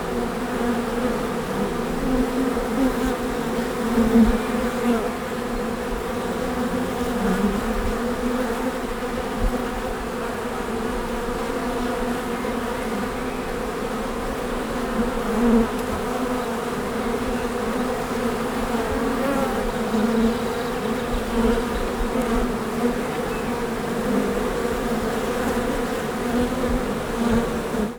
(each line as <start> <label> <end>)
0.0 swarm of bees 27.9
12.2 birds in the background 14.2
19.7 birds in the background 22.2
22.8 birds in the background 23.8